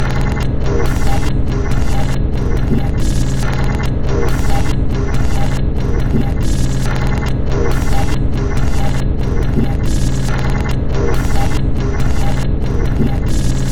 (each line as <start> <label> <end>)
0.0 Drum Loop 13.7